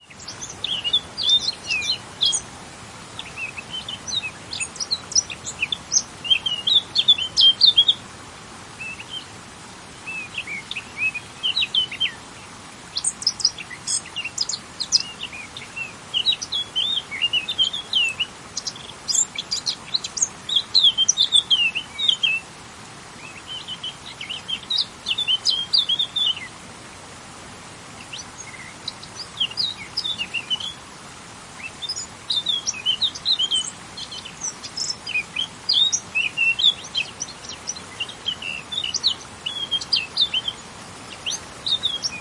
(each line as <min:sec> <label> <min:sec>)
0:00.0 warbler singing 0:26.6
0:00.0 insect 0:42.2
0:00.0 noise of running water 0:42.2
0:00.0 wind on vegetation 0:42.2
0:27.9 warbler singing 0:42.2